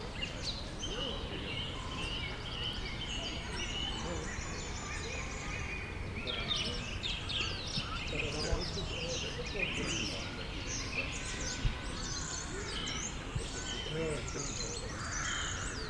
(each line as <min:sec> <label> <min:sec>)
0:00.0 bird sounds 0:15.8
0:00.0 kids playing in the background 0:15.8
0:00.8 people chatting 0:02.2
0:03.0 people chatting 0:07.0
0:07.8 people chatting 0:15.0